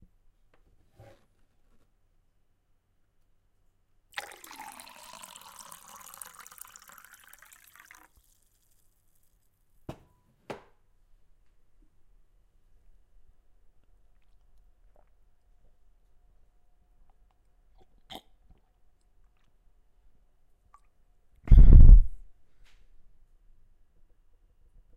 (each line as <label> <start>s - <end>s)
drinking 4.1s - 8.3s
Pouring water into glass 4.1s - 8.8s